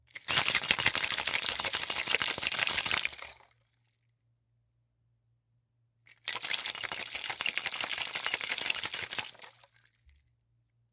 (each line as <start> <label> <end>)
0.1 Shaking martini shaker loud, fast 3.4
6.2 Shaking martini shaker loud, fast 9.7